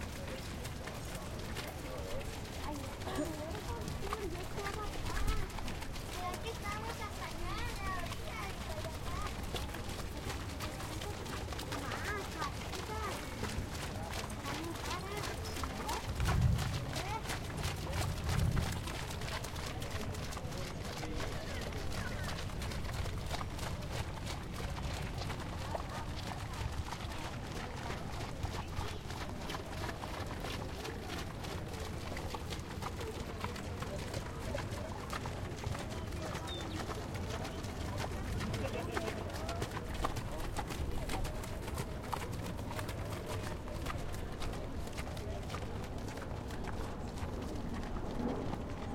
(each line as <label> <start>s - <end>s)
crowd sounds 0.0s - 48.9s
horses walk to the gate on a sloppy track 0.0s - 48.9s